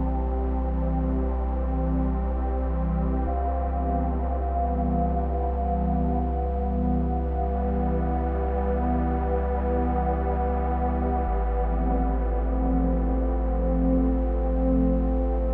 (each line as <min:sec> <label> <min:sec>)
0:00.0 drone 0:15.5
0:00.0 piano 0:15.5